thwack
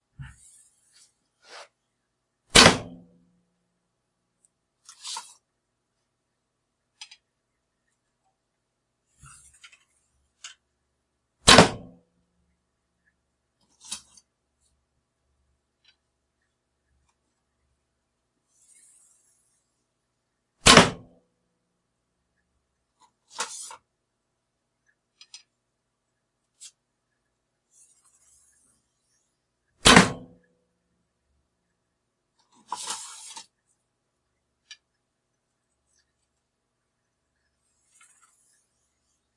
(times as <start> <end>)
2.5 3.0, 11.5 11.9, 20.6 21.1, 29.8 30.4